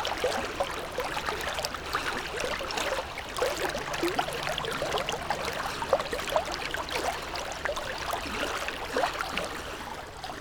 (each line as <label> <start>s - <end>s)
river 0.0s - 10.4s